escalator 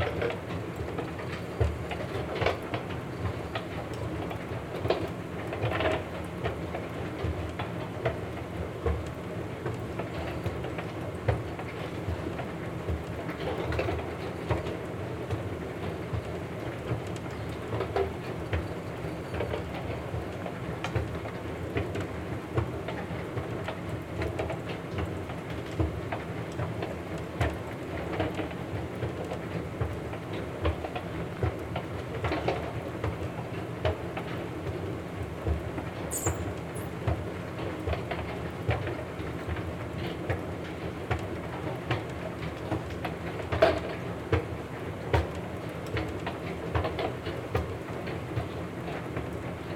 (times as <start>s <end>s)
36.1s 36.9s